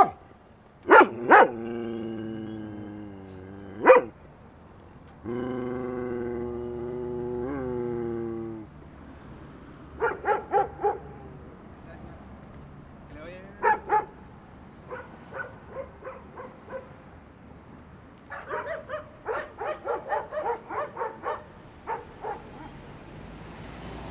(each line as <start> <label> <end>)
0.0 DOGS BARK 0.2
0.0 CAR PASSING 24.1
0.8 DOGS BARK 1.8
3.7 DOGS BARK 4.2
10.0 DOGS BARK 11.3
13.6 DOGS BARK 14.2
14.9 DOGS BARK 17.0
18.3 DOGS BARK 22.8